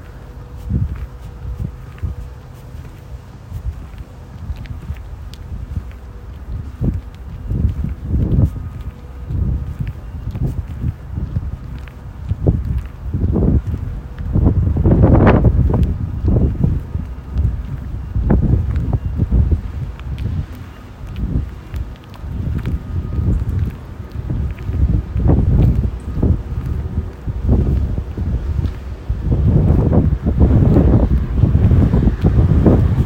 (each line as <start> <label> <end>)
0.0 Cars 33.0
0.0 walk on a windy day 33.0